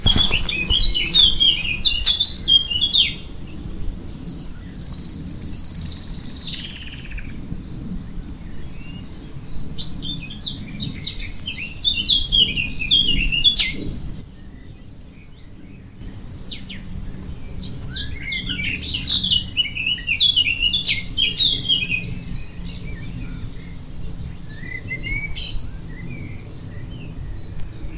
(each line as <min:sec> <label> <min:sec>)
0:00.0 Birds whistling 0:14.7
0:07.0 airplanes passing high over 0:27.9
0:15.7 Birds whistling 0:27.9